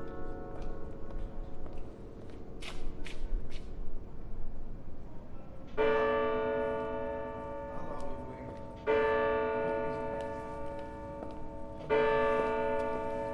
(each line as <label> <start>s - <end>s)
Bells of Sint-Bavokerk 0.0s - 2.6s
Bells of Sint-Bavokerk 5.8s - 13.3s